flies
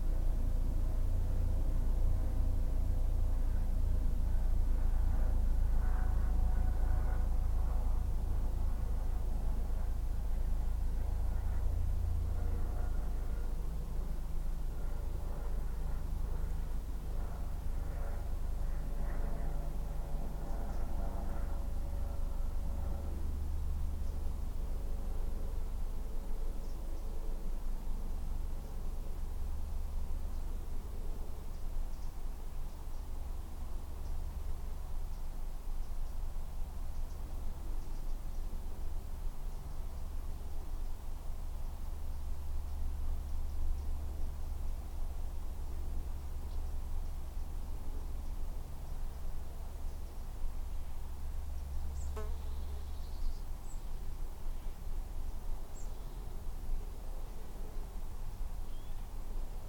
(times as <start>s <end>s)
48.1s 54.9s